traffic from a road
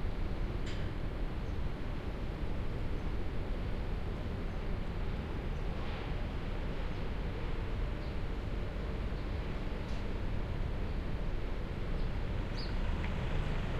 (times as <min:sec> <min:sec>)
0:04.6 0:13.7